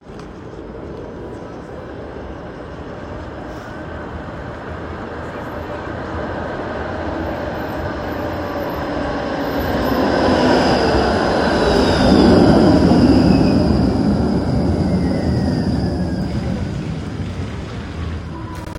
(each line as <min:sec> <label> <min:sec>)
0:00.0 Tram arrival and departure sequences 0:18.7
0:00.0 passing cars 0:18.7
0:11.6 wheel squeal 0:17.4